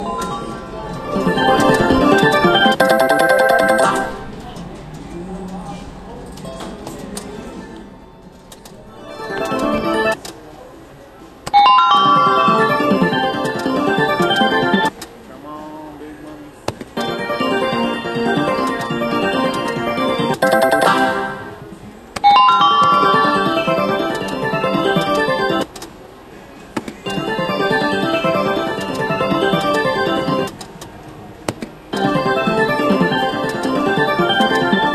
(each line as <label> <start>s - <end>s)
Slot machine noises 0.3s - 4.4s
Wheel of fortune bell 1.1s - 4.3s
Slot machine noises 9.0s - 10.2s
Slot machine noises 11.6s - 14.9s
Slot machine noises 17.0s - 25.8s
putting in more money into machine 17.6s - 21.6s
Wheel of fortune bell 20.0s - 21.6s
Slot machine noises 27.0s - 30.6s
Slot machine noises 31.9s - 34.9s